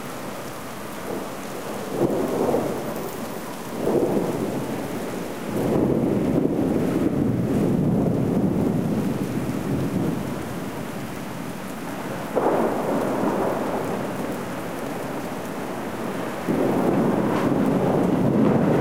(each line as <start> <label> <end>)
0.0 rain 18.8
1.1 thunder 10.4
12.3 thunder 18.8